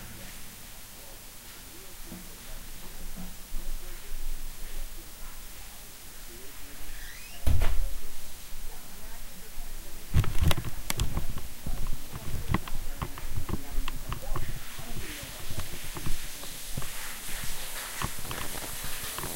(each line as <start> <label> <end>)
0.0 shower 19.3
7.0 door 7.9
10.0 rattling stuff 19.3